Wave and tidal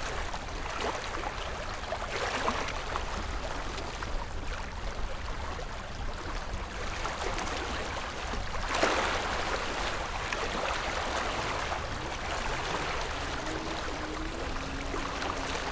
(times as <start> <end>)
8.7 15.7